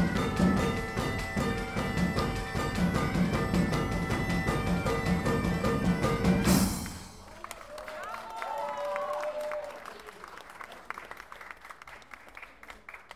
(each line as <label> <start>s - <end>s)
band playing 0.0s - 7.6s